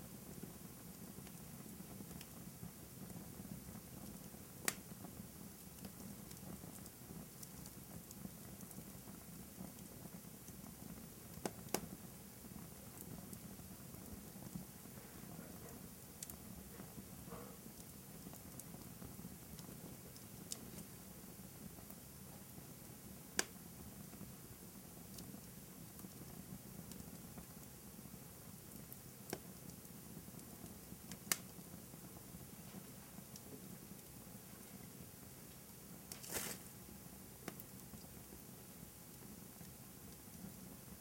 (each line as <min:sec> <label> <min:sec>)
0:00.0 small to medium fire in a fireplace 0:41.0
0:23.4 cracks and pops 0:23.6
0:31.1 cracks and pops 0:31.6
0:35.6 slight hiss from wet log 0:38.4